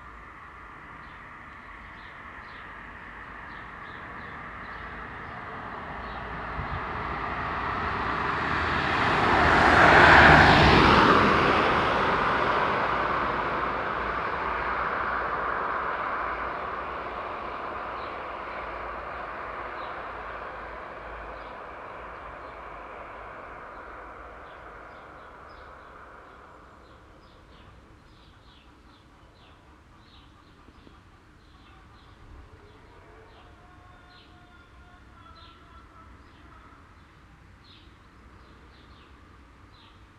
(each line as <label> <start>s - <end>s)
mild windy 0.0s - 40.1s
passing by traffic 0.0s - 40.1s
birds 16.3s - 40.1s